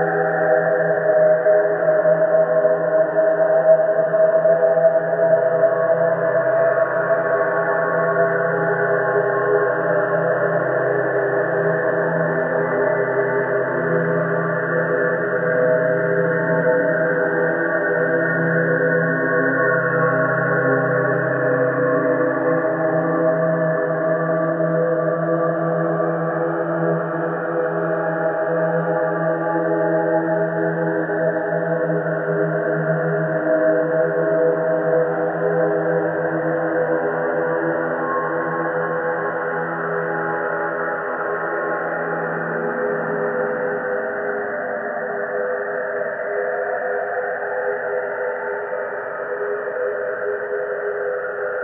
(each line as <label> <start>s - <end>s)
slowly evolving ambient drone pad 0.0s - 51.6s